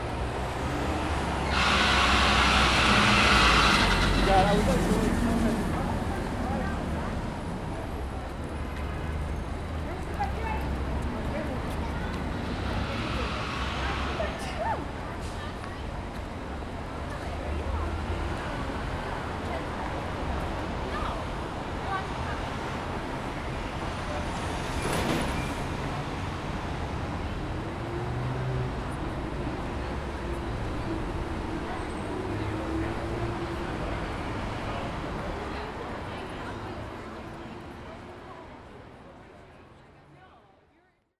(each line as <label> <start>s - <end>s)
tourists surrounding 0.0s - 41.1s